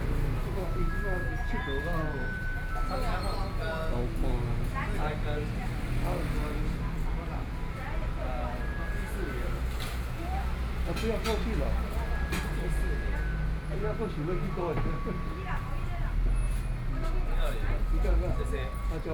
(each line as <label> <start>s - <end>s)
Traffic Sound 0.0s - 19.1s